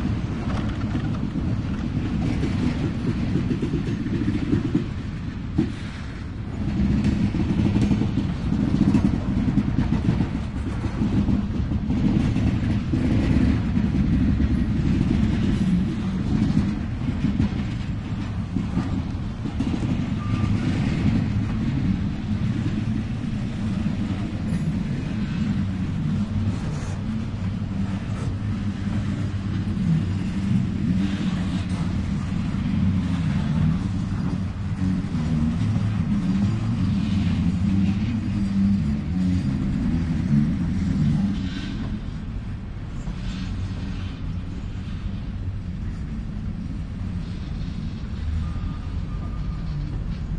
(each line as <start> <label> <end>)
0.0 slow train 50.3